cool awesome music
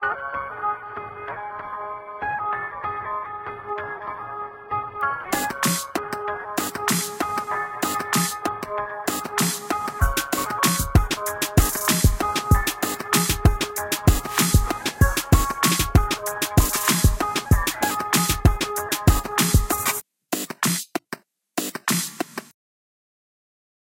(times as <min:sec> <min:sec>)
0:05.3 0:22.5